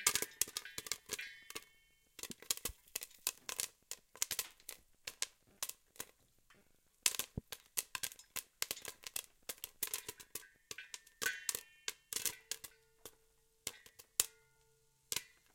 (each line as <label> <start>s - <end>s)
Popcorn sizzling in a pot and popping 0.0s - 15.5s